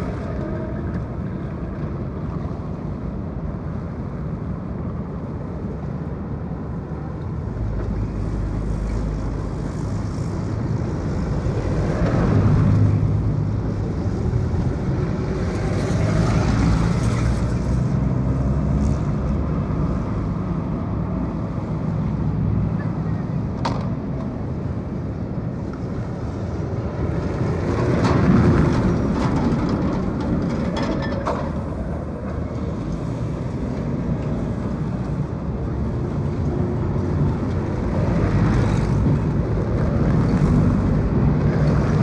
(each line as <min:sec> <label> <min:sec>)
0:00.0 cars 0:42.0
0:00.0 trams 0:42.0